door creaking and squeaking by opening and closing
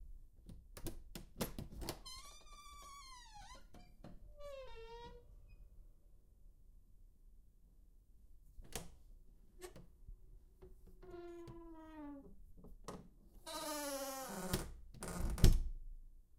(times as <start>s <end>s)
1.7s 5.7s, 11.0s 15.7s